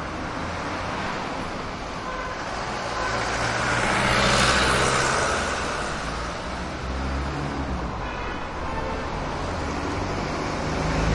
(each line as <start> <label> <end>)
0.0 traffic heavy 11.1